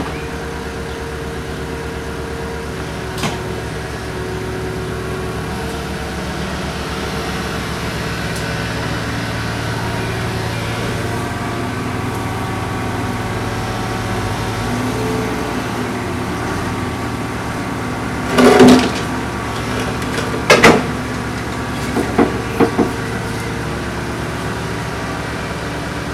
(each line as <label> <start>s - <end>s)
little earth mover 0.0s - 26.1s
sawing machine 0.0s - 26.1s